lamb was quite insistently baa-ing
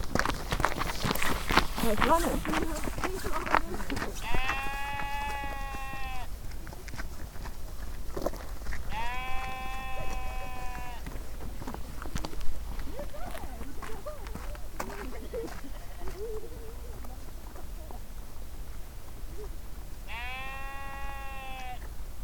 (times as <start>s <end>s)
4.2s 6.3s, 8.9s 11.0s, 20.1s 21.8s